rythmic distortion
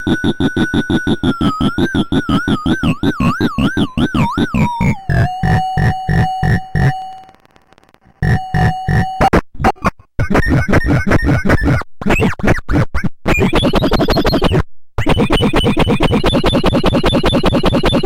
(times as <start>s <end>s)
0.0s 11.4s